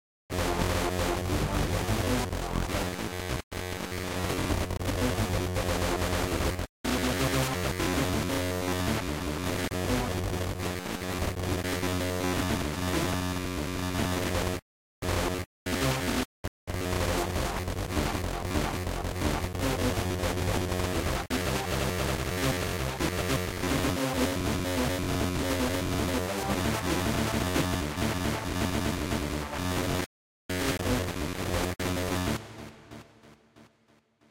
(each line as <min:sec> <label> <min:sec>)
0:00.3 static 0:34.3